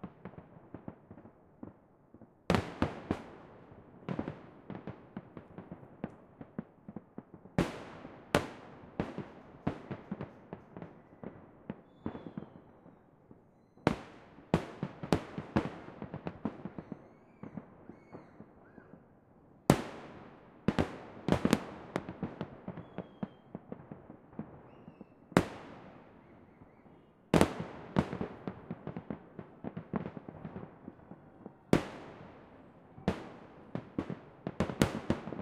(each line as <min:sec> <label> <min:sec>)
0:00.0 Salute fireworks 0:35.4